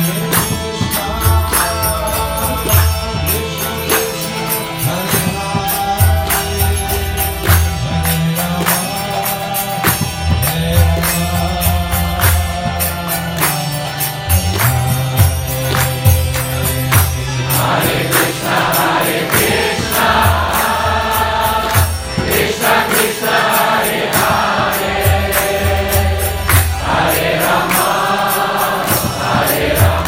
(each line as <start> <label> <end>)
0.0 instruments 30.0
0.0 kirtan song 30.0